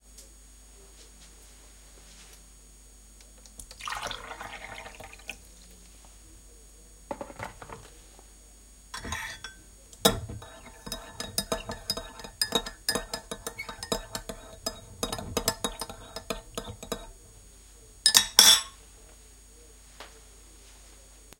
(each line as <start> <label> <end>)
3.6 water being poured into a cup 5.5
9.0 stirred with a spoon 17.4
10.6 water being poured into a cup 17.2
18.0 stirred with a spoon 18.8